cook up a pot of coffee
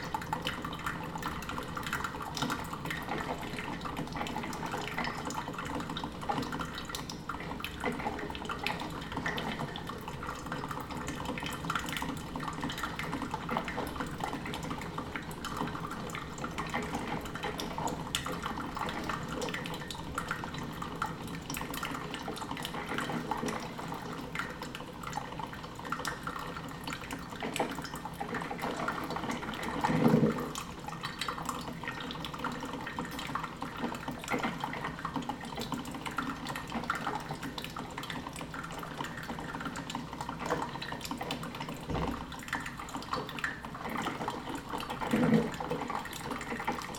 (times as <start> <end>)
41.8 42.7